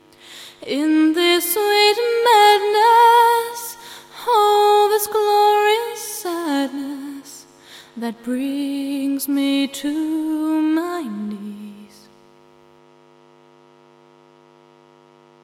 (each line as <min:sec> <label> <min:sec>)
0:00.0 vocals 0:12.2
0:00.0 electrical hum 0:15.4